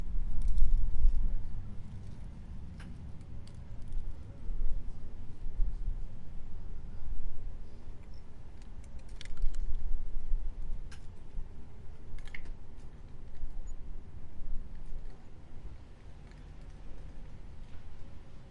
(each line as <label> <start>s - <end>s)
very dry-leaves moving and rustling on the pavement 0.0s - 18.5s